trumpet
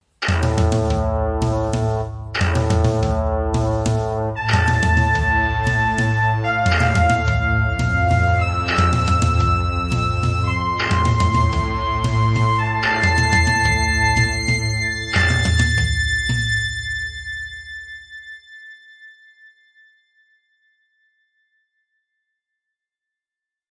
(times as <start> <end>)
0.2 18.4